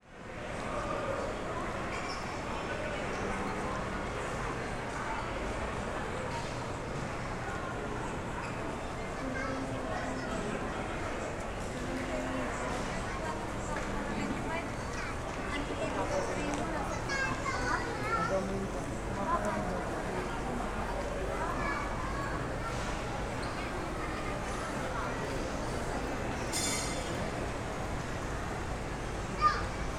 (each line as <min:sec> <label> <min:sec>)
0:00.0 crowd 0:29.9
0:08.4 children 0:29.9